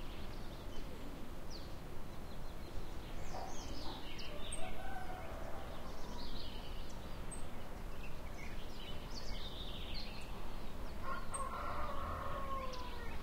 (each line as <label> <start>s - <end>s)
birds 0.0s - 13.2s
distant rooster 4.3s - 5.9s
distant rooster 11.0s - 13.2s